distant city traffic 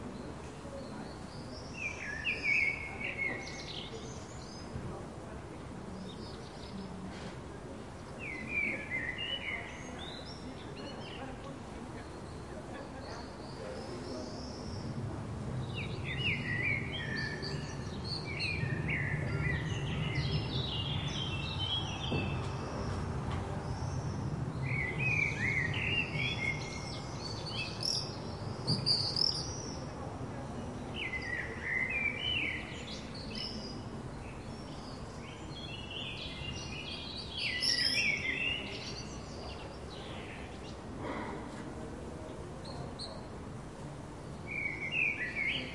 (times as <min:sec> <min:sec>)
0:13.2 0:45.7